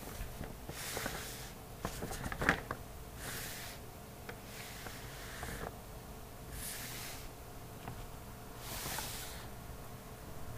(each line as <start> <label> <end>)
0.0 swiping paper over table surface 2.3
3.2 swiping paper over table surface 3.8
4.4 swiping paper over table surface 5.7
6.5 swiping paper over table surface 7.3
8.6 swiping paper over table surface 9.5